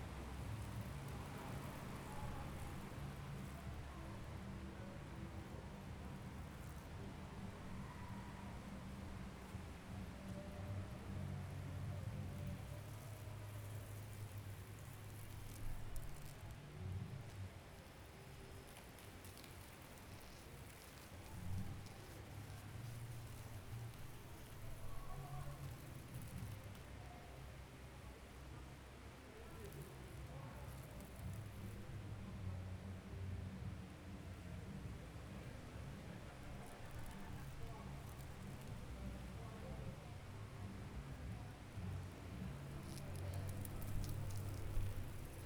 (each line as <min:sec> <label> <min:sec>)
0:34.3 wind blowing leaves around 0:45.4